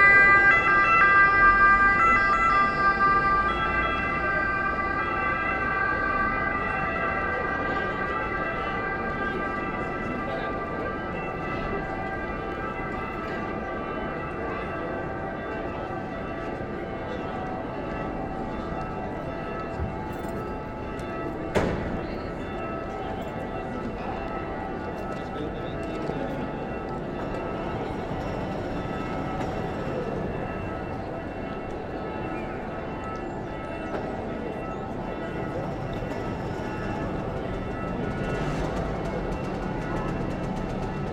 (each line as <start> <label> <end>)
0.0 Police alarm 11.1
0.0 bells ringing 41.1
0.0 people passing by 41.1